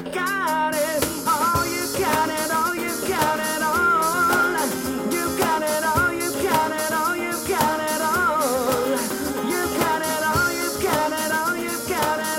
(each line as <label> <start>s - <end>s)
Music from a band in the street singing in English 0.0s - 12.3s